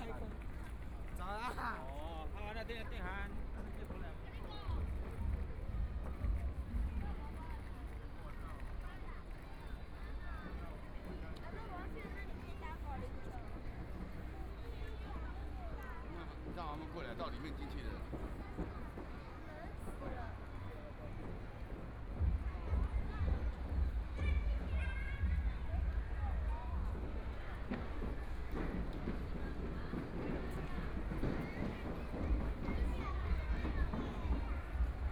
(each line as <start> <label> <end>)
0.0 Tourist 35.1
0.0 Traffic Sound 35.1
21.2 footsteps 35.1